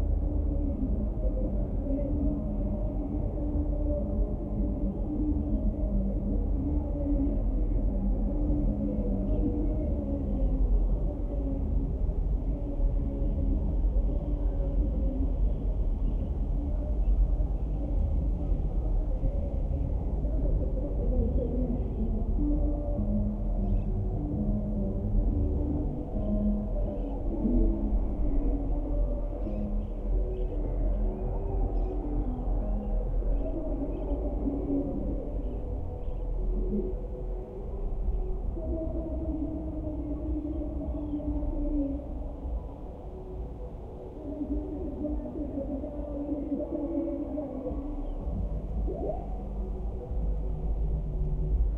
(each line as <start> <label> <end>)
0.0 distant music festival 51.7